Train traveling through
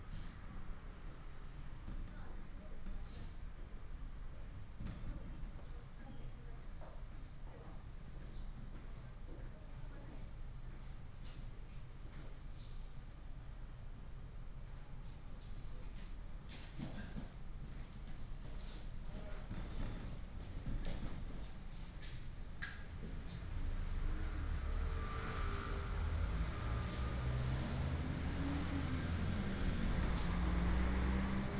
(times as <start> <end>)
23.4 31.5